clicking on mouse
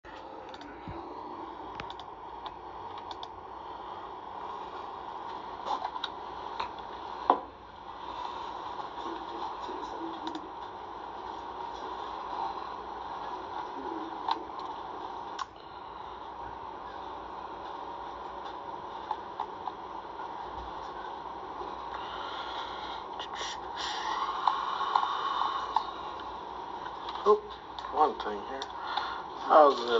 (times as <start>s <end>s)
1.8s 2.1s